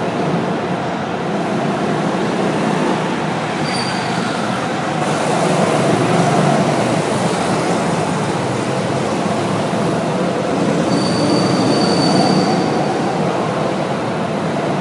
0.0s Indoor Go-Kart 14.8s

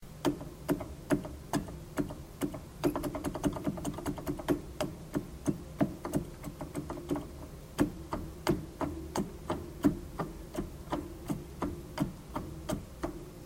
0.1s keys being depressed on a church organ keyboard 13.4s

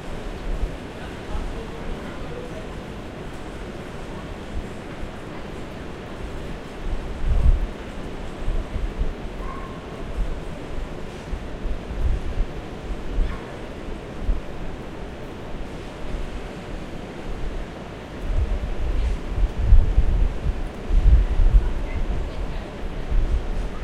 0.0s arrival of an Airport Express Train 23.8s
0.0s departure of a local train 23.8s

